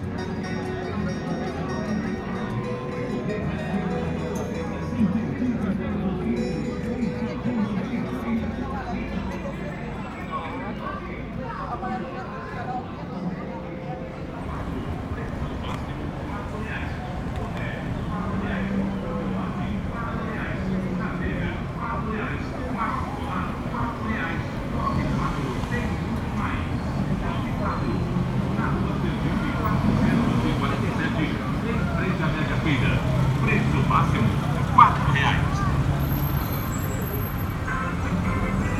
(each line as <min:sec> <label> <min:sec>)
0:00.0 snippets of music 0:10.0
0:00.0 cars announced promotions from recorded phrases 0:38.7
0:00.0 passages of propaganda cars 0:38.7